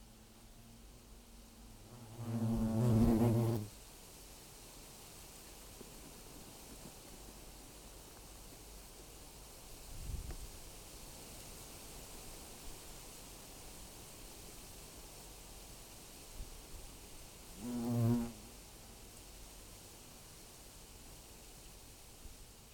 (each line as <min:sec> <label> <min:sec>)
0:00.0 nest of european hornets in a tree 0:22.7